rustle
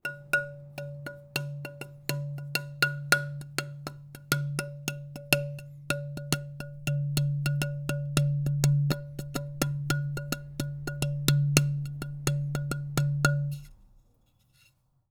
0:09.1 0:15.1

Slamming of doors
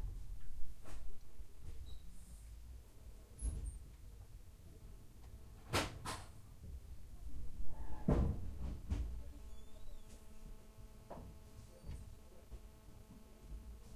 0:08.0 0:09.2

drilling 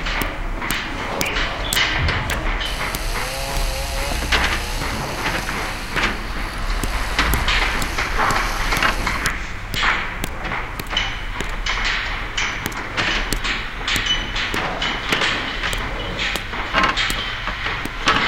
0:01.7 0:11.6

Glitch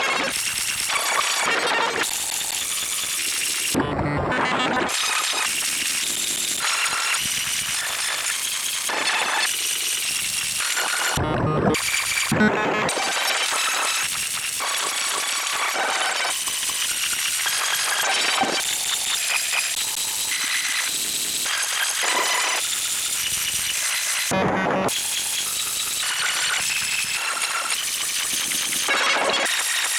0:11.0 0:13.4

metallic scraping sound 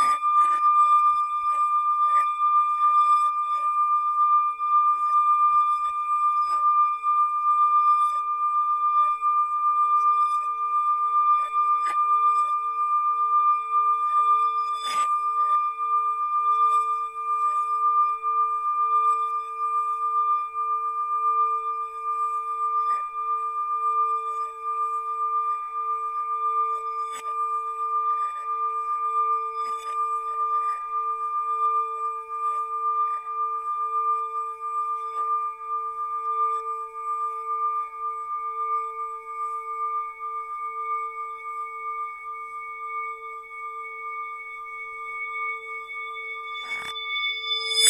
0:43.4 0:47.8

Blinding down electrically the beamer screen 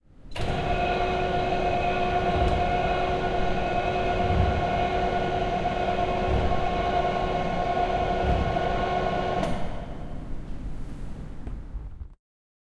0:00.4 0:10.2

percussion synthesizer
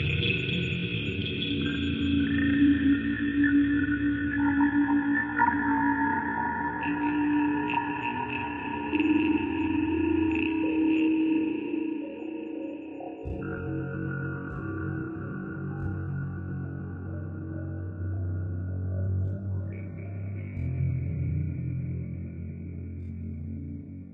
0:13.2 0:16.2

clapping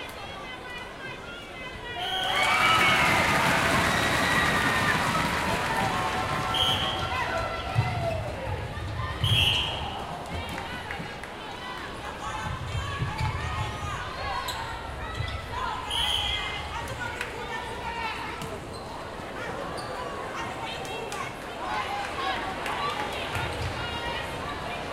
0:02.4 0:07.6

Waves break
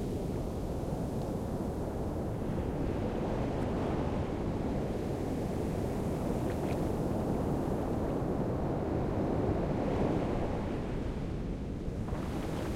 0:12.1 0:12.7

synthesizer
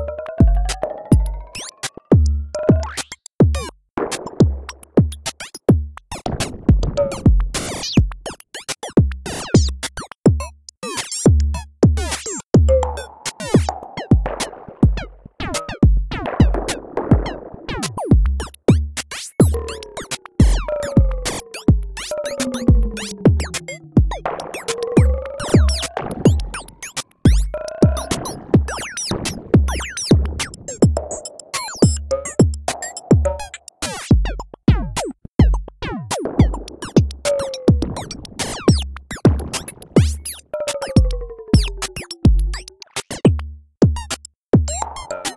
0:00.0 0:03.1, 0:12.1 0:43.0

